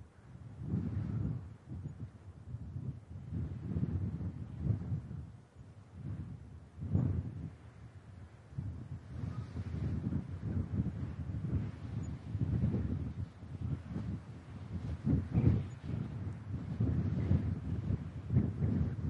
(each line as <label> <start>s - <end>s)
mountain wind 0.0s - 19.0s